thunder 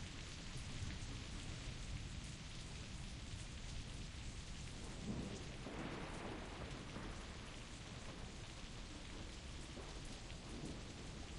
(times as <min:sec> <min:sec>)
0:04.8 0:11.3